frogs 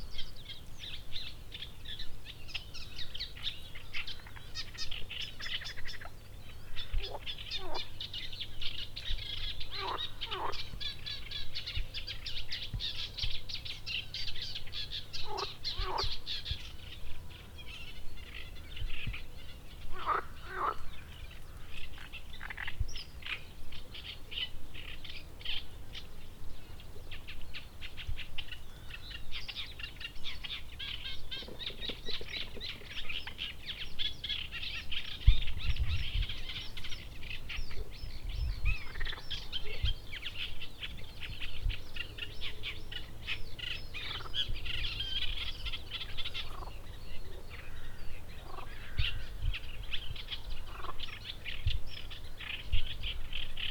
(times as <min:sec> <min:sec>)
0:06.8 0:08.0, 0:09.7 0:10.8, 0:15.2 0:16.3, 0:19.9 0:20.9, 0:22.0 0:22.8, 0:38.7 0:39.8, 0:43.1 0:46.9, 0:47.5 0:49.4, 0:50.6 0:51.2